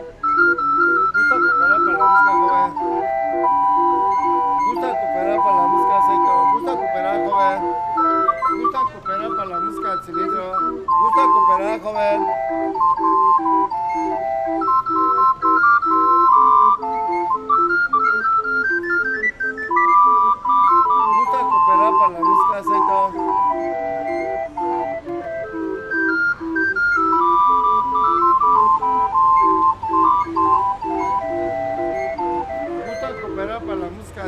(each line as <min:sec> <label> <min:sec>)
0:00.0 joueur d'orgue de Barbarie 0:34.2